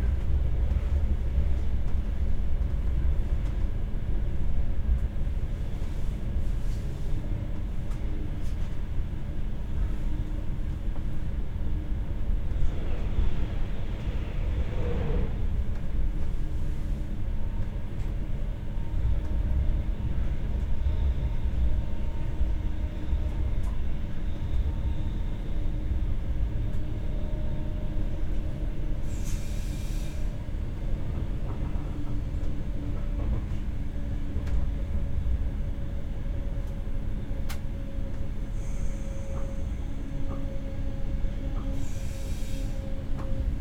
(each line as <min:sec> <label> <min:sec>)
0:00.0 rather quiet train ride 0:43.6
0:12.4 new loud passengers 0:15.8